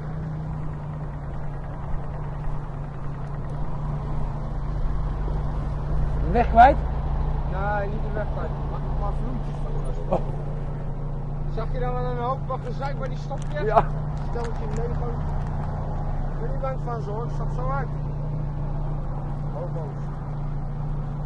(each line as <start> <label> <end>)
0.0 cars are waiting at the traffic light 21.2